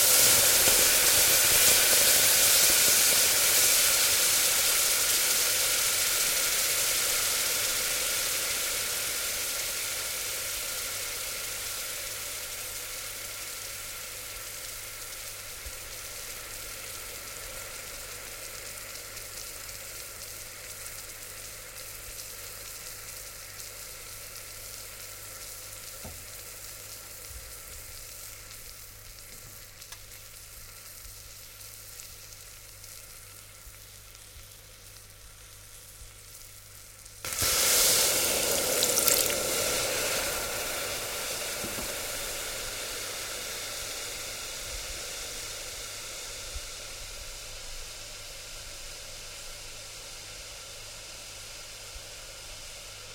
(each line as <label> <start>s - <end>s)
Water evaporating once dropped onto a hot pan 37.3s - 40.3s
Water evaporating once dropped onto a hot pan 41.5s - 42.4s